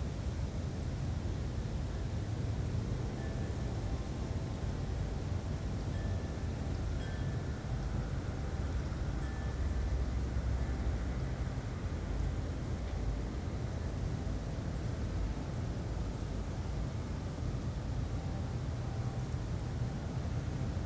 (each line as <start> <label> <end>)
0.0 moderate breeze 20.8
0.0 sounds from a nearby road 20.8
5.9 wind chimes 10.9